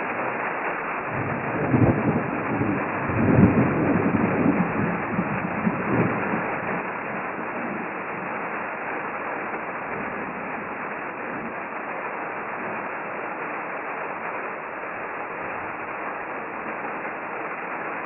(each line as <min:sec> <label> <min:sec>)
0:00.0 rain on metal roof 0:18.0
0:01.0 distant storm approaches 0:17.4